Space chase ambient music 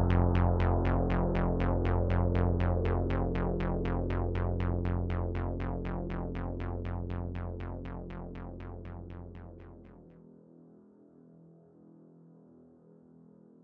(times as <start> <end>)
0.0 6.4